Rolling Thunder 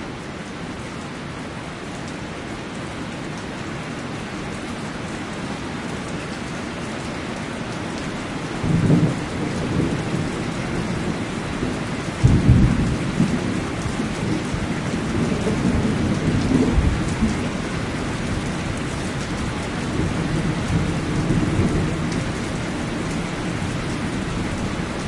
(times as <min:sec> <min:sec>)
0:08.6 0:25.0